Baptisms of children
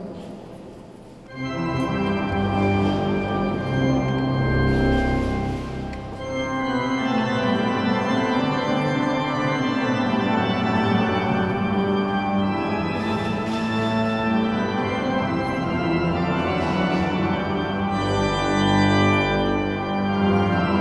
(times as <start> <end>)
0.0 7.0